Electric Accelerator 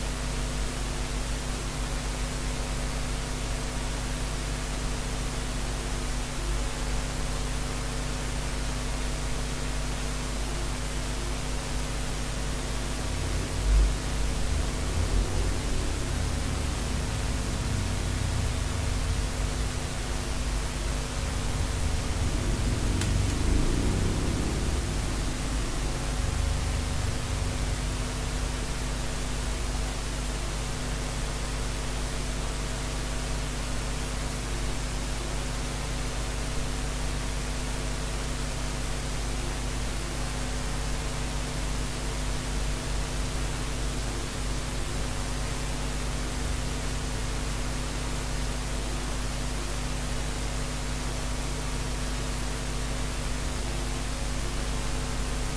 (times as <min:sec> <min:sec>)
0:13.0 0:29.5